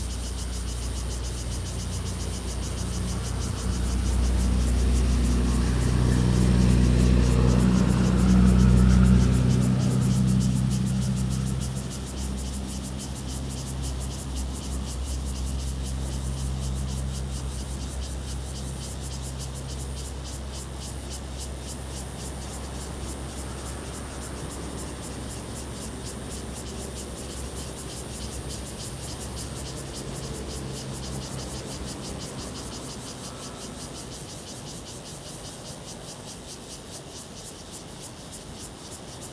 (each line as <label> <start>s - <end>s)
Traffic Sound 0.0s - 36.4s
Cicadas sound 0.0s - 39.3s